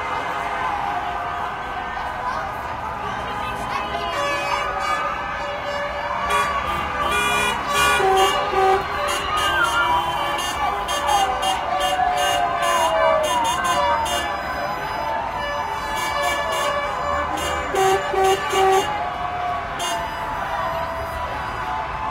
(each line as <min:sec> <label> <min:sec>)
0:00.0 cheering 0:22.1
0:04.0 loud air horn 0:19.1
0:19.7 loud air horn 0:21.8